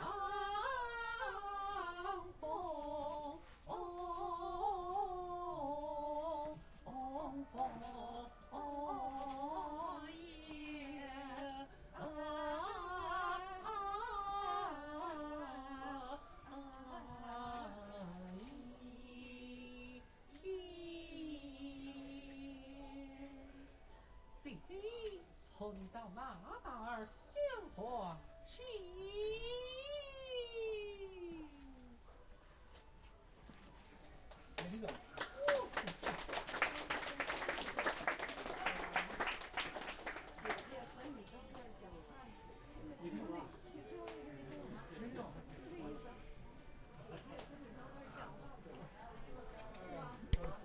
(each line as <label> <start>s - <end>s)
singing 0.0s - 34.1s